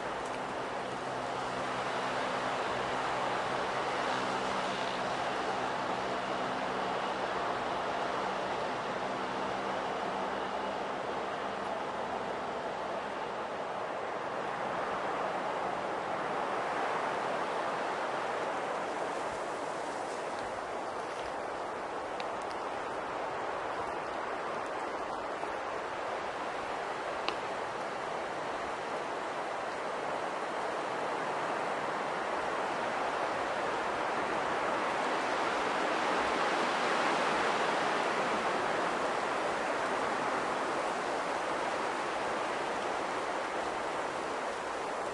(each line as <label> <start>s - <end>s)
strong wind gusts on pine trees 0.0s - 45.1s